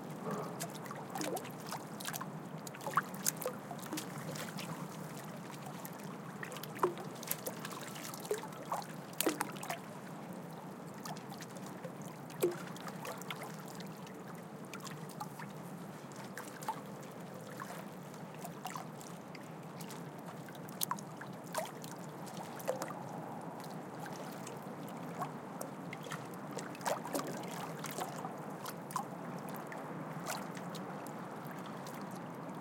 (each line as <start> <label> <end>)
0.0 Light waves hitting the harbour wall 32.6
0.0 harbour and city noise in the background 32.6